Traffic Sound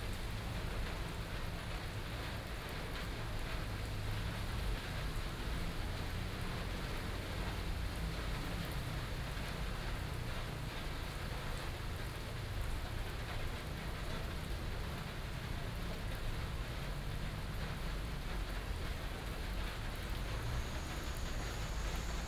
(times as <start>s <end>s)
16.9s 22.2s